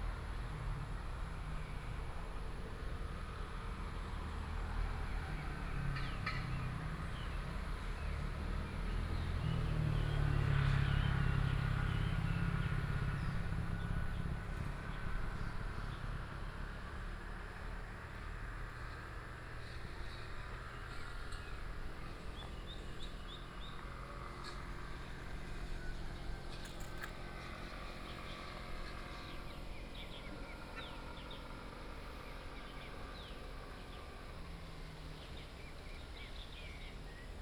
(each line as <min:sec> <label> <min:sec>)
0:00.0 Traffic sound 0:37.4